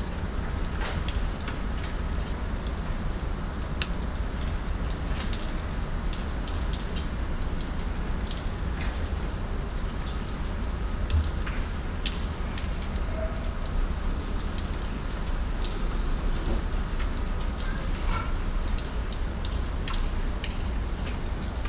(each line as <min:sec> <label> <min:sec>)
0:00.0 rain in the backyard 0:21.6